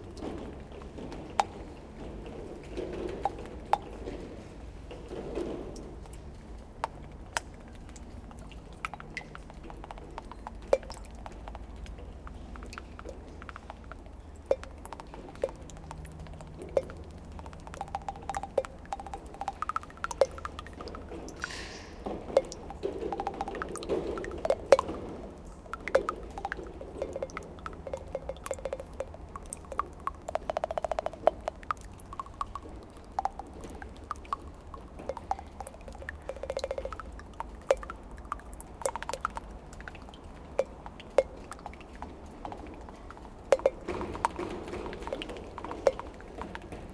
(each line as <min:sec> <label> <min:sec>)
0:00.0 rain is falling on a very old piece of dead cloth 0:46.9